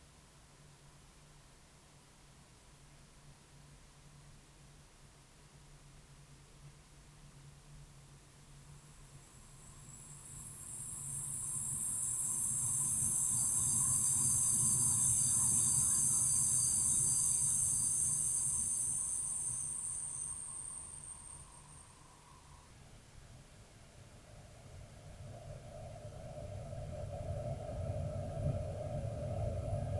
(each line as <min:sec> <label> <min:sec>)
0:08.0 pseudo-insects 0:22.8
0:08.9 pseudo-wind 0:22.7
0:24.2 pseudo-wind 0:29.9